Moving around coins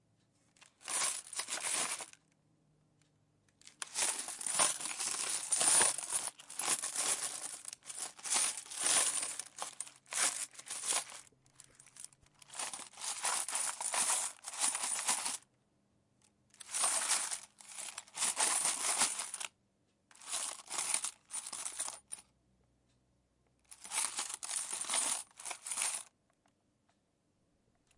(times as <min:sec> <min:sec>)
0:00.8 0:02.2, 0:03.7 0:15.4, 0:16.6 0:19.5, 0:20.2 0:22.2, 0:23.8 0:26.1